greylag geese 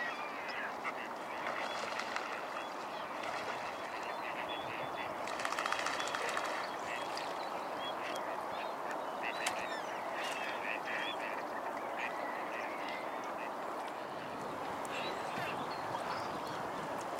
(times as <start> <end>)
0.0 7.3, 7.9 13.6